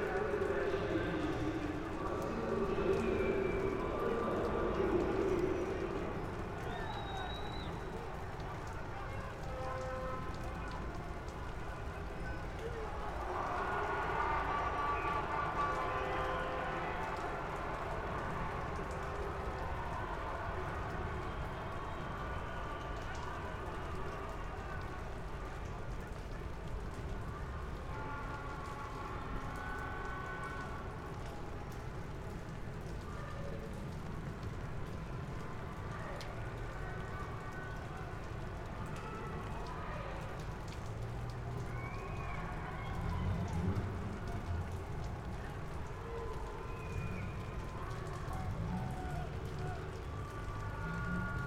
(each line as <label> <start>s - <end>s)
raining and drizzling 0.0s - 51.4s